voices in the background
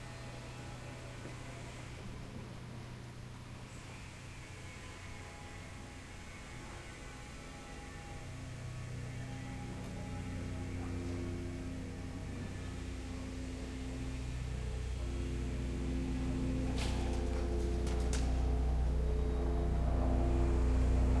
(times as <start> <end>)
6.3 14.2